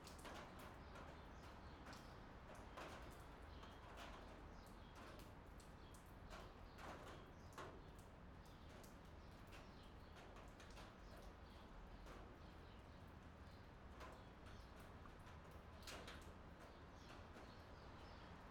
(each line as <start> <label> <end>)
0.0 tin roof in rain 18.5